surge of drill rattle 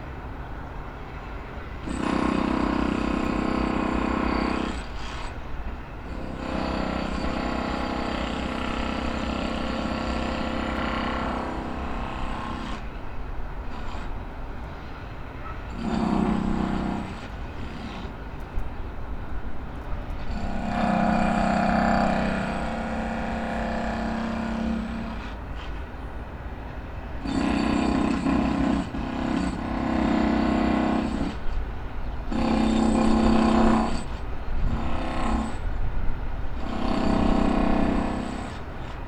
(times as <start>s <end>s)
15.7s 18.2s, 20.2s 25.8s, 32.3s 35.7s, 36.6s 39.0s